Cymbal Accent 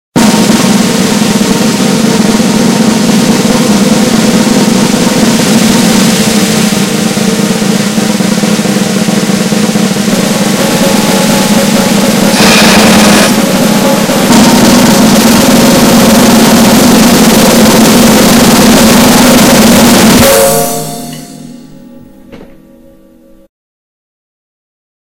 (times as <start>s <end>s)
4.8s 22.9s